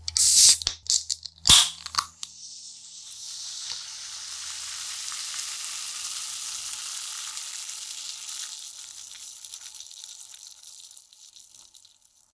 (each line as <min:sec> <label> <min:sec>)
0:00.0 Opening soda can 0:02.4
0:03.4 Opening soda can 0:04.1